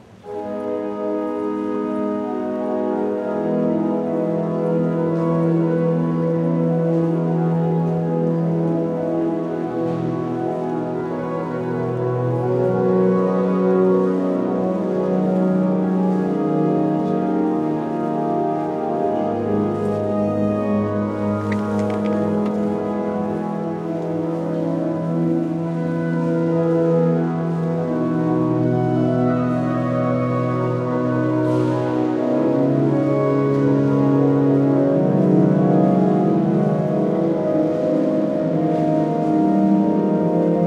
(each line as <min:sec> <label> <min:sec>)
0:00.0 people at the church speaking low 0:40.6
0:00.2 pupil playing different segments with the organ 0:40.6